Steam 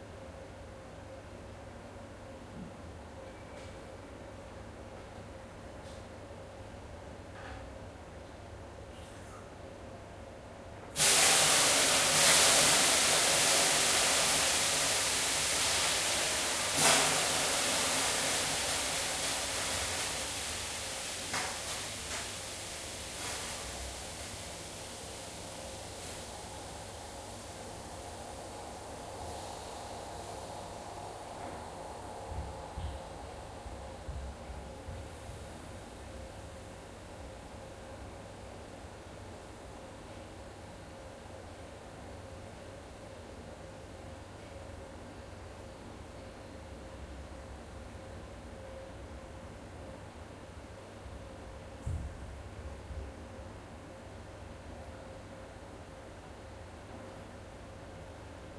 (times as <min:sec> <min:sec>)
0:11.0 0:44.8